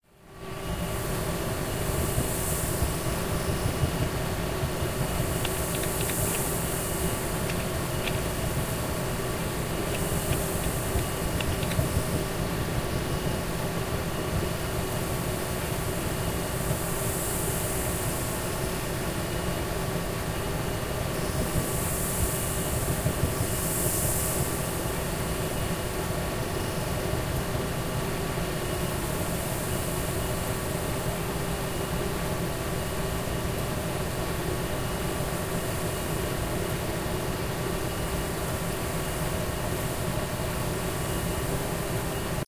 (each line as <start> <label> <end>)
0.0 ventilation systems 42.4
5.2 astronaut typing 8.5
9.7 astronaut typing 12.0